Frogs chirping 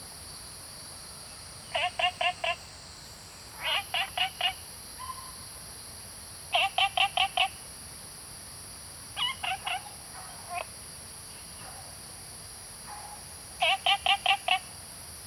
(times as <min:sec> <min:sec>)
0:01.6 0:05.2, 0:06.5 0:07.6, 0:09.1 0:10.8, 0:12.9 0:14.9